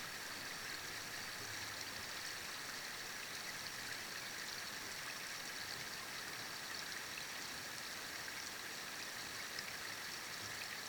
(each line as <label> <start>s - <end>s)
creek 0.0s - 10.8s